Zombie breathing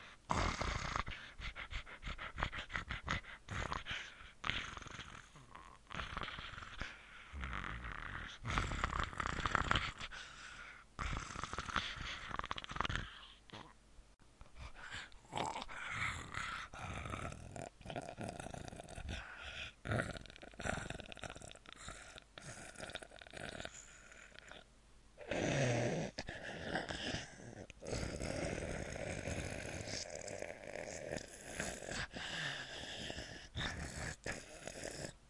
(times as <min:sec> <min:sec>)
0:25.2 0:35.2